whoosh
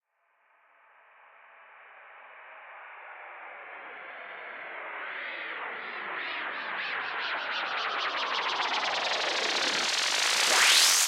9.3 11.0

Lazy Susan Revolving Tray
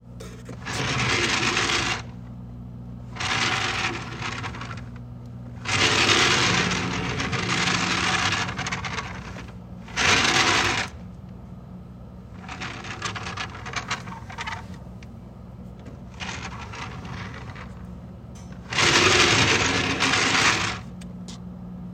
0.5 2.1, 3.1 11.0, 12.3 14.8, 15.8 17.8, 18.4 20.9

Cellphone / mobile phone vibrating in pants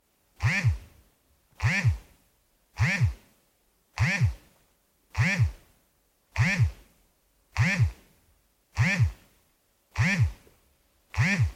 0.4 0.9, 1.6 2.1, 2.8 3.2, 4.0 4.4, 5.2 5.6, 6.4 6.8, 7.6 8.0, 8.8 9.3, 10.0 10.4, 11.2 11.5

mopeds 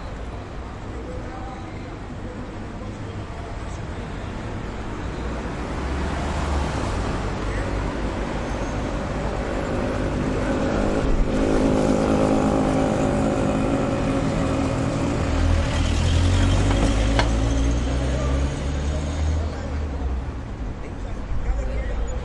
7.4 19.7

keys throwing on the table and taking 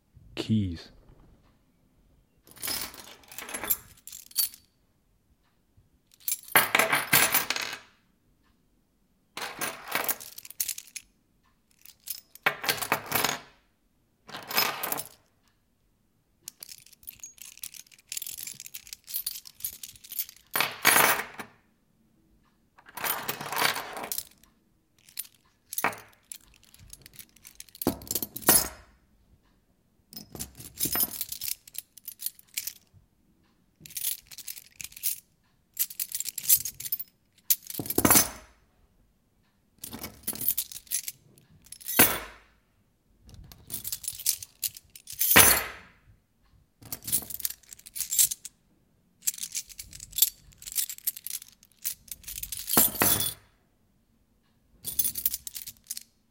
2.5 4.7, 6.2 7.9, 9.4 11.0, 11.8 13.6, 14.3 15.2, 16.5 21.6, 22.8 24.4, 25.0 29.0, 30.2 32.9, 33.8 35.2, 35.8 38.6, 39.8 42.5, 43.3 46.0, 46.8 48.5, 49.2 53.5, 54.8 56.1

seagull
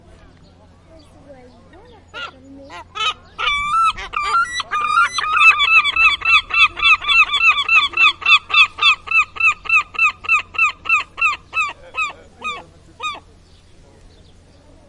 2.0 13.3

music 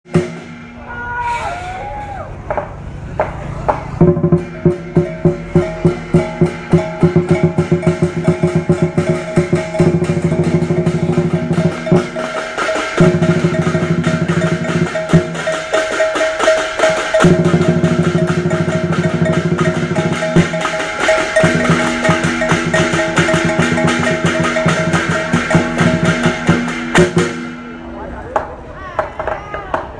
4.0 27.7

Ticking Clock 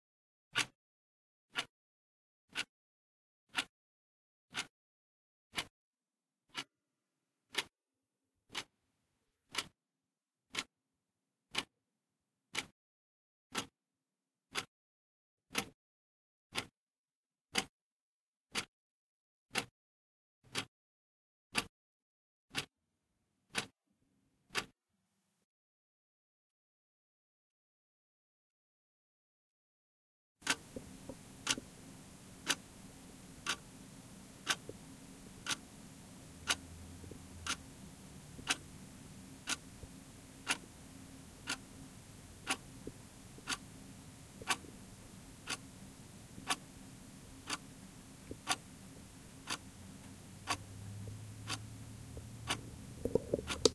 30.4 53.7

